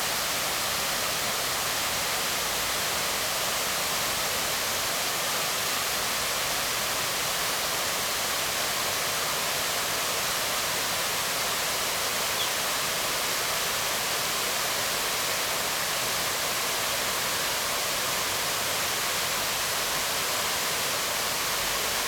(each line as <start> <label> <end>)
0.0 waterfall 22.0